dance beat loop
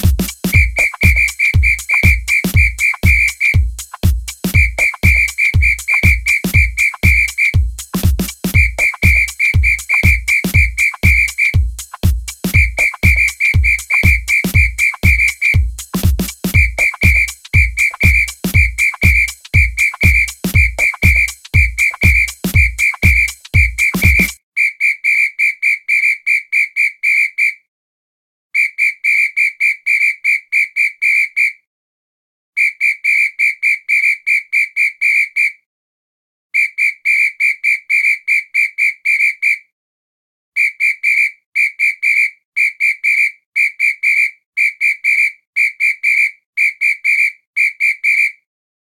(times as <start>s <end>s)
0.0s 24.4s